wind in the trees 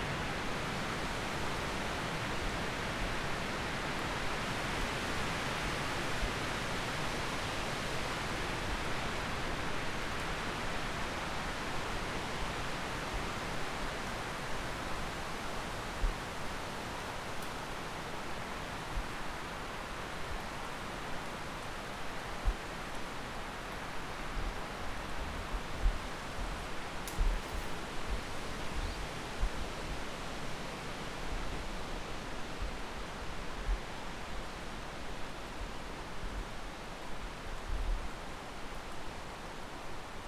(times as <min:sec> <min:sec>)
0:21.8 0:40.2